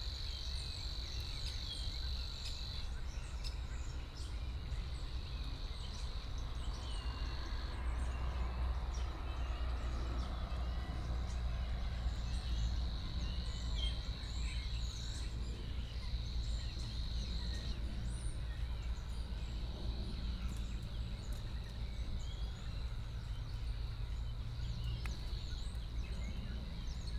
airplanes 2.9 - 27.1

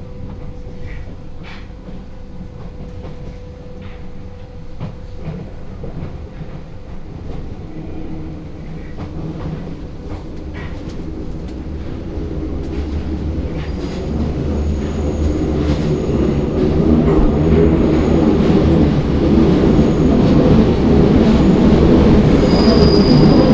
metro 0.0 - 23.5
walking from Airbnb flat to the metro 0.0 - 23.5

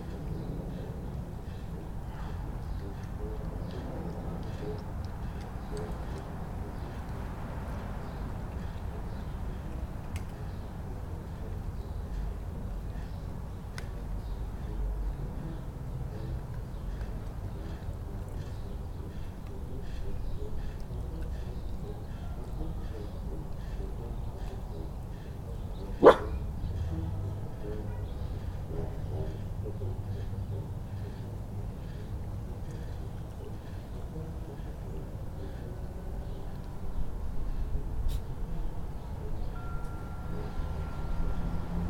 puppy barking 26.0 - 26.4
car noise 40.5 - 41.8

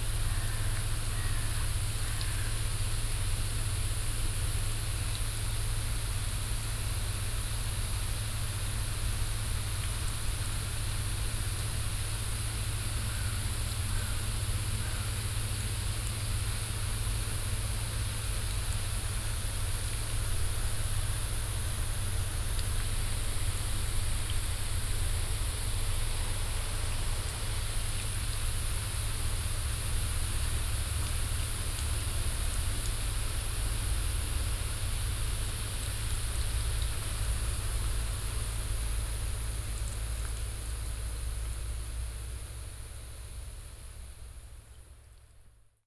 activated water sprinkler 0.0 - 45.3

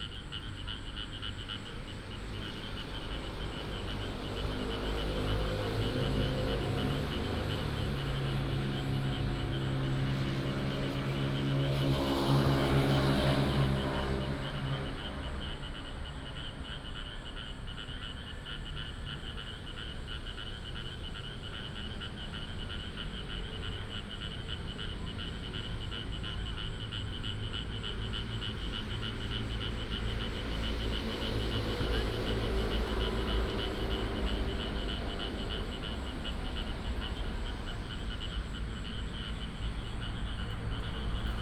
traffic sound 0.0 - 41.4
The frog sound 13.8 - 41.4

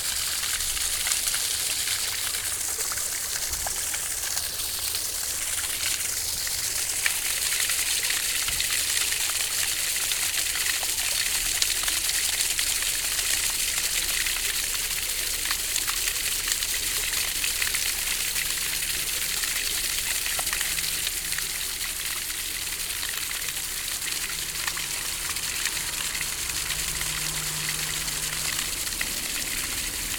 fountain 0.0 - 30.1

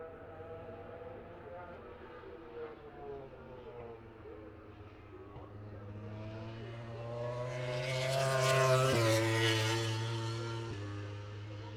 moto grand prix 3.8 - 11.7

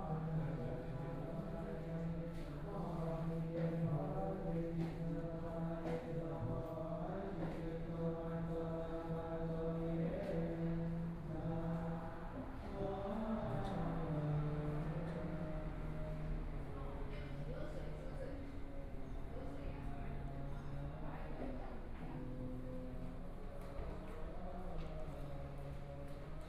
Chanting voices 0.0 - 26.4
Walking in the temple 0.0 - 26.4

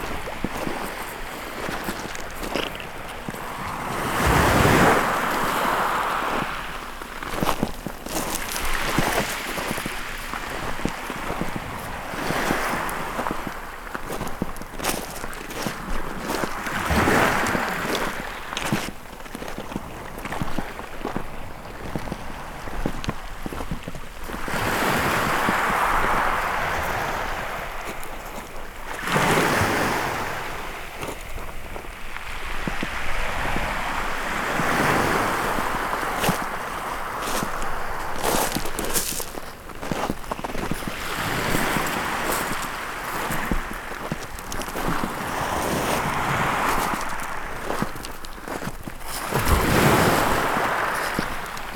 Walking on the shingle beach 0.0 - 51.7

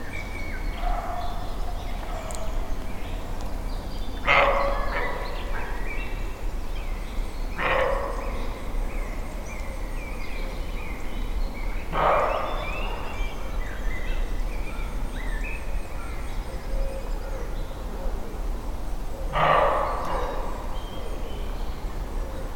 barking roe deer 4.2 - 5.8
barking roe deer 7.6 - 8.5
barking roe deer 11.9 - 13.1
barking roe deer 19.2 - 21.1

